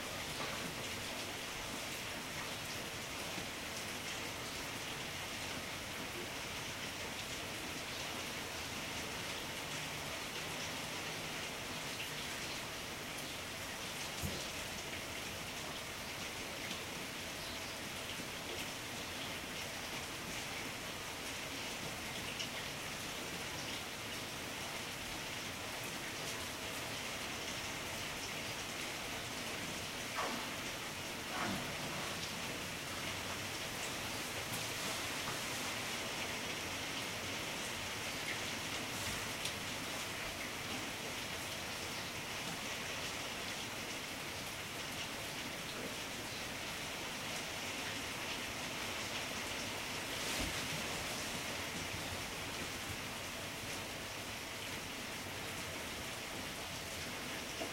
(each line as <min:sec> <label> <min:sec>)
0:00.0 rain from inside behind closed doors 0:57.7